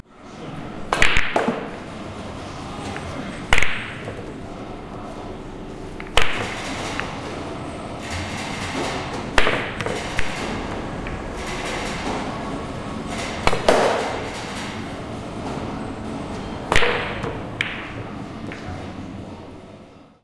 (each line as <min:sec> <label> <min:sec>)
0:00.6 billiard balls 0:19.1